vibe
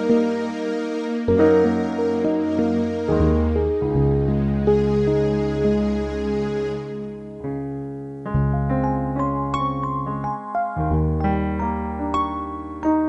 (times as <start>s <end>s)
1.3s 7.5s